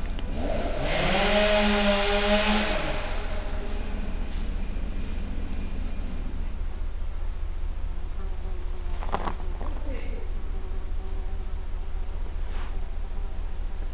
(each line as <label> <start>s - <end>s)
chainsaw 0.0s - 6.8s